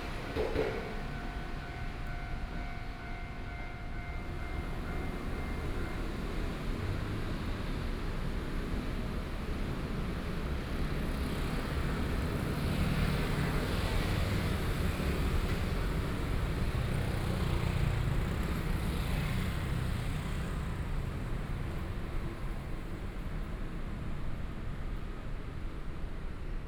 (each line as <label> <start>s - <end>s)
Train traveling through 0.0s - 26.6s